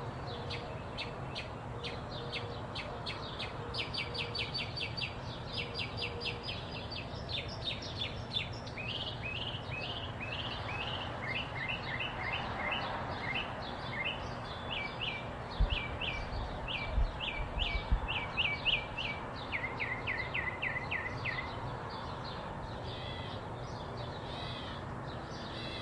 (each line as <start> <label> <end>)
0.0 Variety of birds 25.8
0.0 faint city ambience 25.8